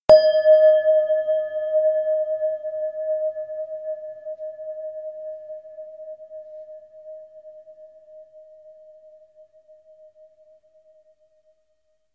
Synthetic Bell Sound 0:00.1 - 0:03.2

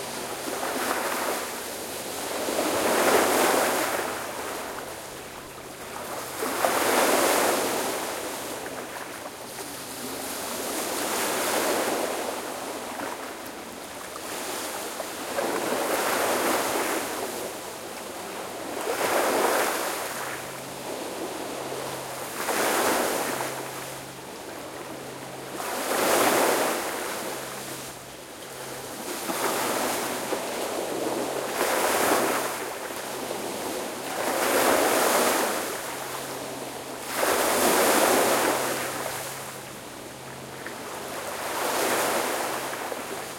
waves breaking 0:00.0 - 0:43.3

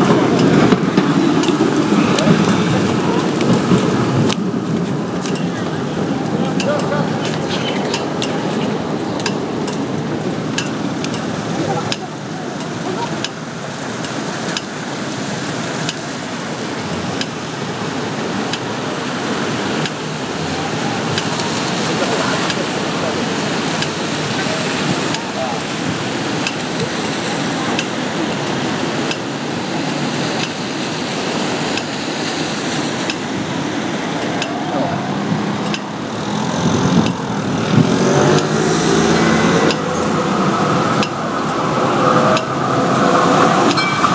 traffic 0:00.0 - 0:44.1
trams 0:00.0 - 0:44.1
people 0:00.0 - 0:10.0
people 0:20.4 - 0:25.8

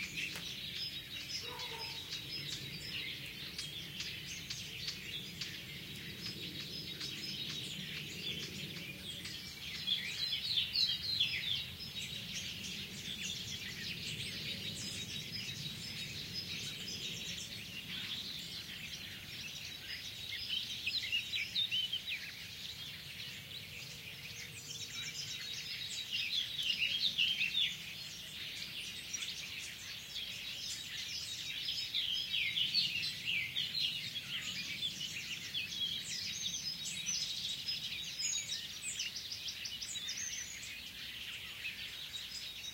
planes overheading 0:00.0 - 0:19.9
blackcap 0:00.0 - 0:23.3
dogs barking 0:01.4 - 0:02.2

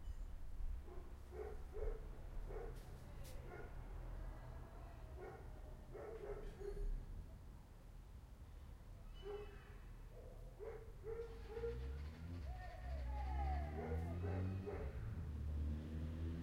car starting 0:11.0 - 0:16.4
revving 0:11.3 - 0:16.4
shouts far away 0:12.4 - 0:14.8

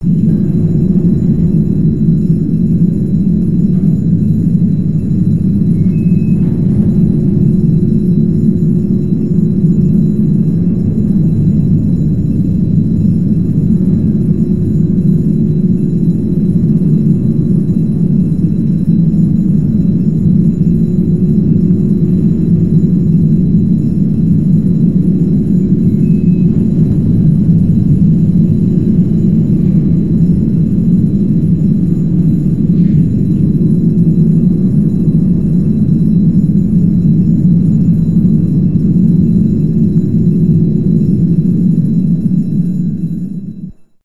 sinking ocean liner 0:00.0 - 0:43.6
alarm 0:00.0 - 0:44.0
impact 0:00.0 - 0:13.2
impact 0:25.4 - 0:35.5

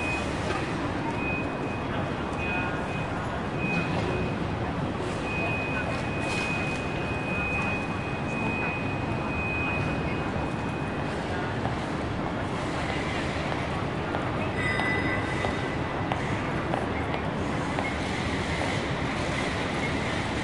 people 0:00.0 - 0:20.4
beeps 0:01.0 - 0:04.5
beeps 0:05.1 - 0:11.1

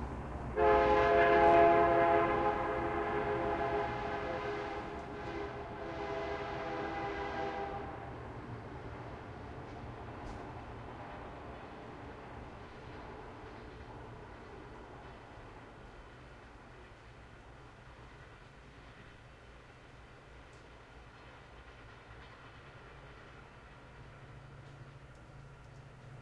Train passing by 0:00.0 - 0:26.2

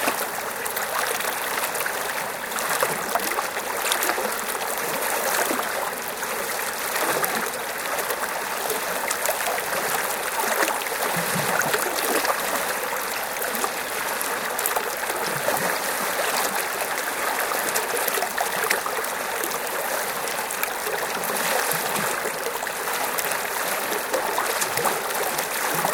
Waves breaking on a small River 0:00.0 - 0:25.9

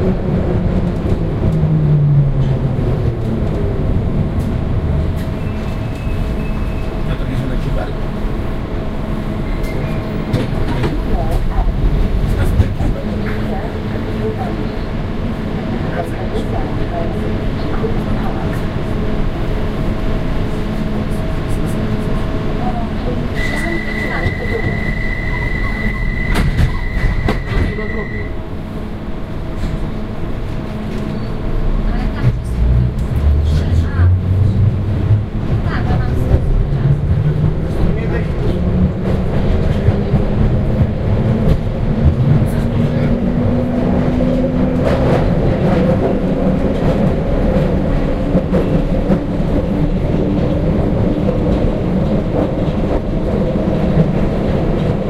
train 0:00.0 - 0:55.0
announcement 0:23.1 - 0:28.4

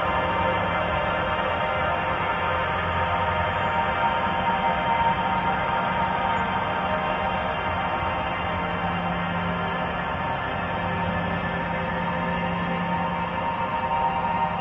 slowly evolving dreamy ambient drone pad 0:00.0 - 0:14.6

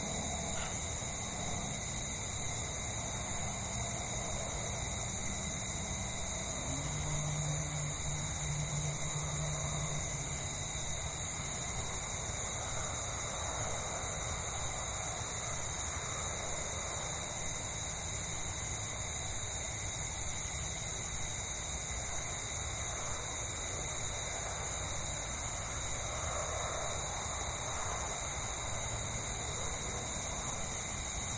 planes 0:00.0 - 0:18.9
crickets 0:00.0 - 0:31.3
cars 0:03.0 - 0:12.0
planes 0:21.9 - 0:31.3

